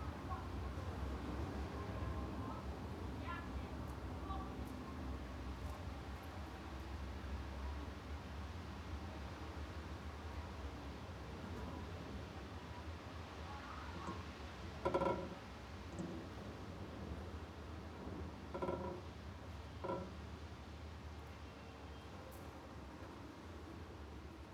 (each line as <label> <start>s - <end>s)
locals prepare for the weekly market 0.0s - 24.5s
wind rattling a window 13.5s - 20.4s